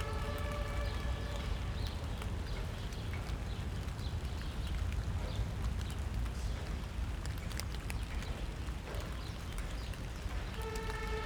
rain spatters on thick autumn leaves 0:00.0 - 0:11.2

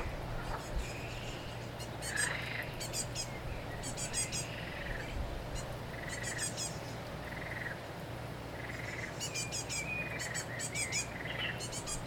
frogs 0:02.0 - 0:05.1
frogs 0:05.9 - 0:07.8
frogs 0:08.5 - 0:12.0

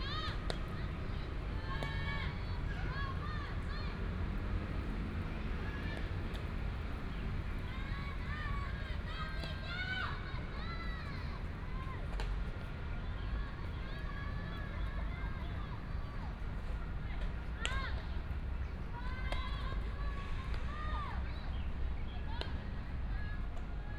Primary school students are practicing softball 0:00.0 - 0:23.9
traffic sound 0:00.0 - 0:23.9

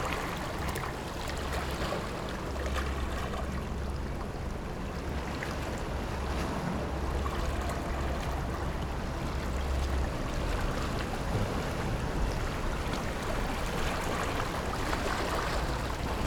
Rocks and waves 0:00.0 - 0:02.7
Rocks and waves 0:10.4 - 0:16.2

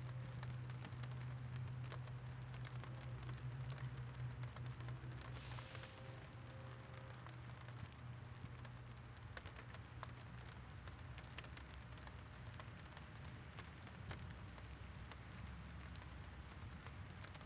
rain on the box 0:00.0 - 0:17.4
drops falling on the windscreen 0:00.0 - 0:17.4
traffic 0:02.5 - 0:09.7
train goes by 0:05.1 - 0:08.1

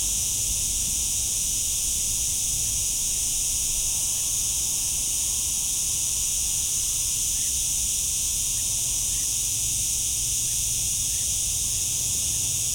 Cicada chorus 0:00.0 - 0:12.7

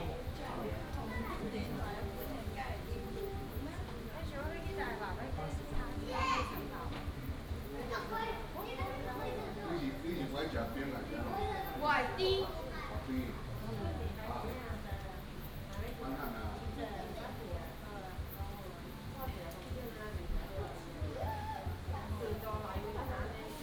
Tourists and children 0:00.0 - 0:23.6

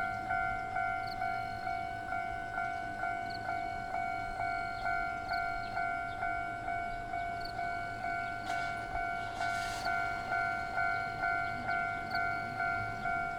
Trains traveling through 0:00.0 - 0:13.3
Traffic Sound 0:08.3 - 0:13.3

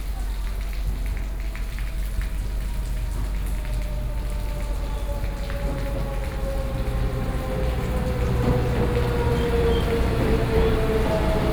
Rainwater 0:00.0 - 0:11.5

